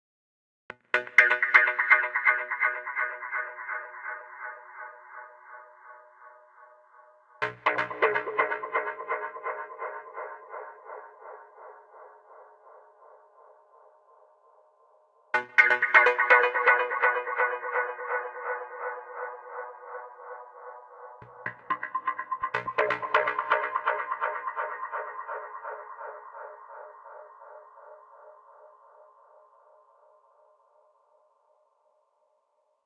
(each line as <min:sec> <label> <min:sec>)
0:15.4 synth 0:27.6